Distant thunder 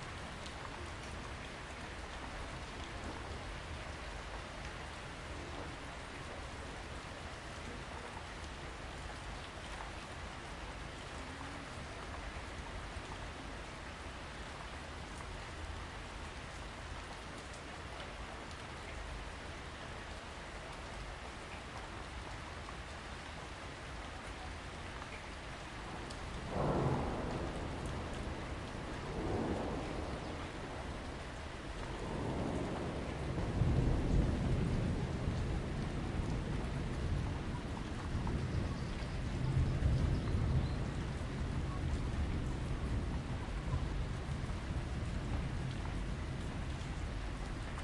25.9s 47.8s

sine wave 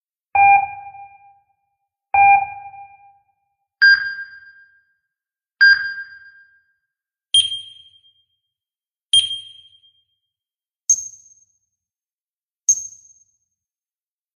0.5s 1.7s, 2.4s 8.6s, 9.2s 10.4s

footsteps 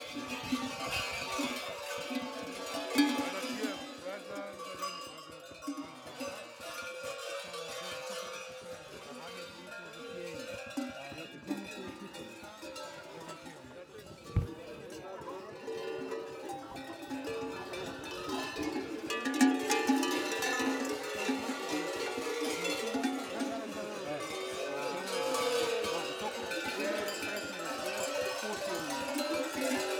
14.4s 14.8s

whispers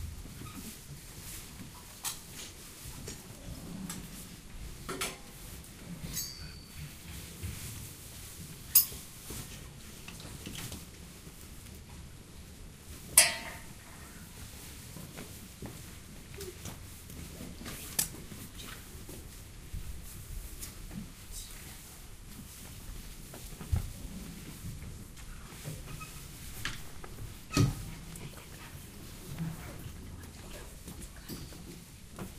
27.8s 31.7s

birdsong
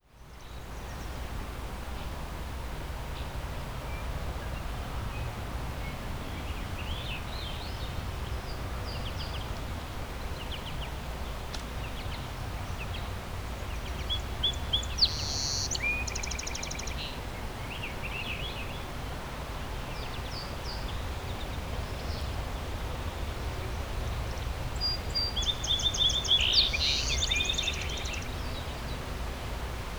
11.8s 18.8s, 23.4s 29.2s

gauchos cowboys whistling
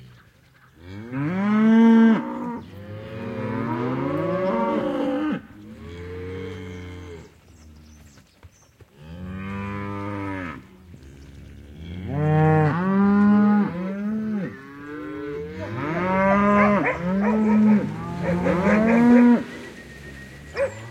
15.5s 20.9s

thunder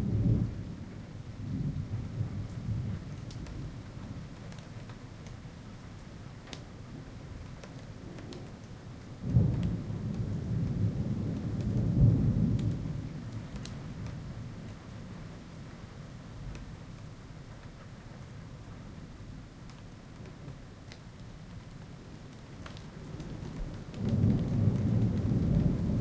0.0s 3.8s, 9.2s 14.3s, 23.1s 26.0s

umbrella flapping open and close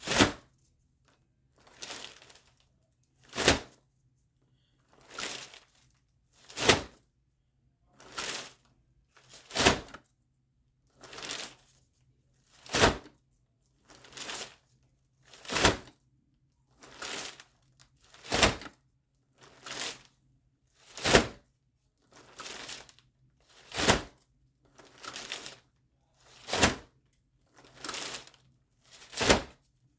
0.0s 0.4s, 1.8s 2.3s, 3.3s 3.7s, 29.1s 29.6s

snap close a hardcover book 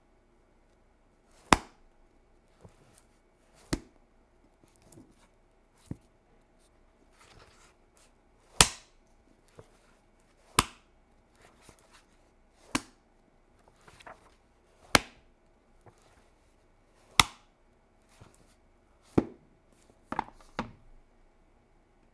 1.4s 1.8s, 8.6s 8.9s, 10.5s 12.0s, 12.6s 13.0s, 14.9s 15.2s, 17.1s 17.4s

